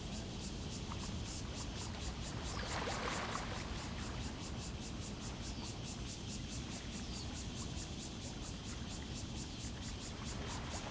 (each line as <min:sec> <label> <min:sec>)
0:01.8 Tide 0:04.6